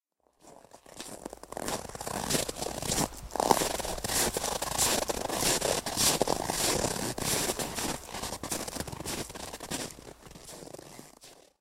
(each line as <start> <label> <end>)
0.4 Walking on snow 11.6